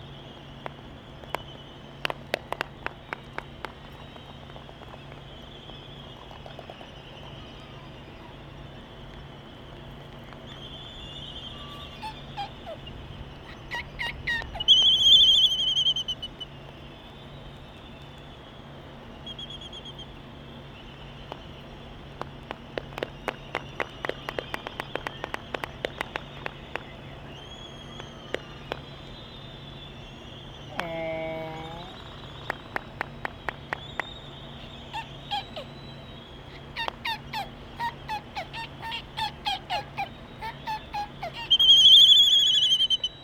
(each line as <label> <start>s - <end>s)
Laysan albatross dancing 0.2s - 8.5s
Laysan albatross dancing 21.2s - 29.3s
Laysan albatross dancing 30.7s - 42.0s